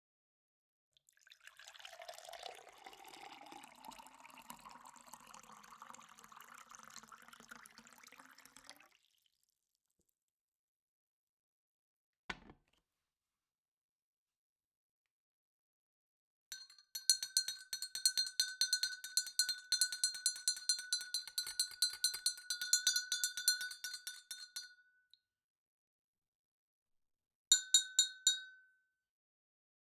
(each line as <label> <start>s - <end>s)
Fill a glass with liquid 1.1s - 9.8s
stir with a metal spoon 16.5s - 24.7s
tap spoon on glass 16.5s - 24.9s
tap spoon on glass 27.5s - 28.7s